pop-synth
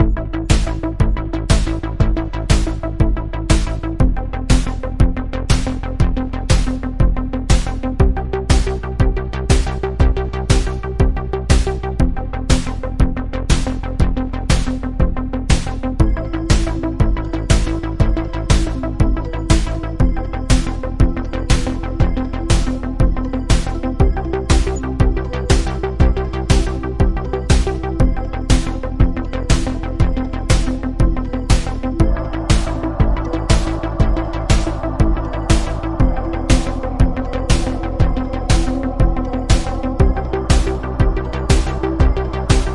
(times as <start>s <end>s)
16.0s 42.7s